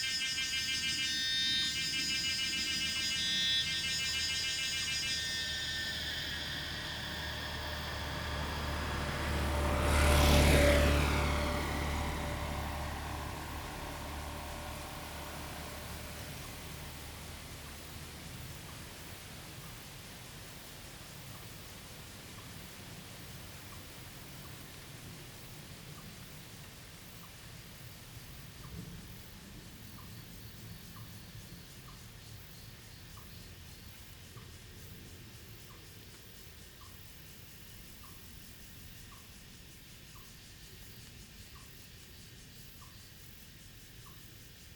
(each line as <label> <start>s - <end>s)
bird sound 0.0s - 19.0s
Traffic sound 0.0s - 29.8s
Cicada 0.0s - 44.7s